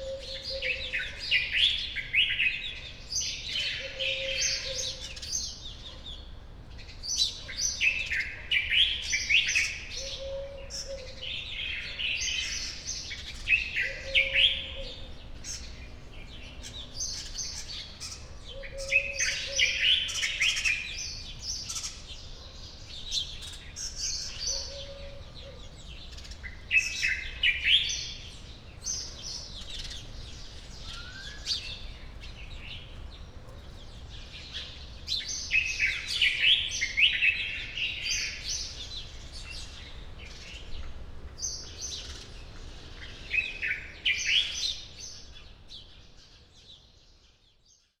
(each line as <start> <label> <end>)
0.0 early birds 48.0